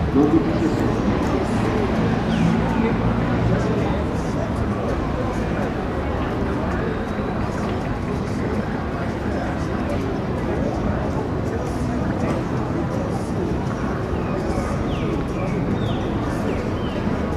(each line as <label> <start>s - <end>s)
people traveled through the square 0.0s - 17.3s
vehicles circulated in the nearby streets 0.0s - 17.3s
loudspeakers in stores emitted diverse music 0.0s - 17.3s
caged bird sang 14.2s - 17.2s